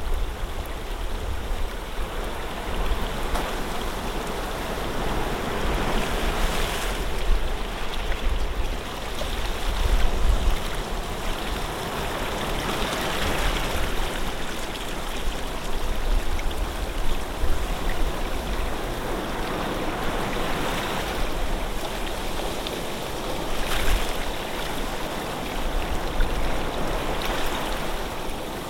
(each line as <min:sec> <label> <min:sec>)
0:00.0 sea 0:28.6